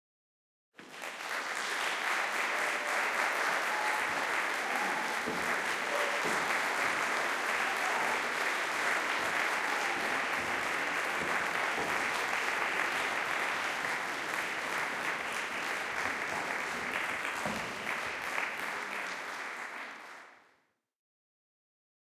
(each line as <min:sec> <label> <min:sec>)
0:00.8 cheering 0:20.4
0:01.8 applauding 0:16.3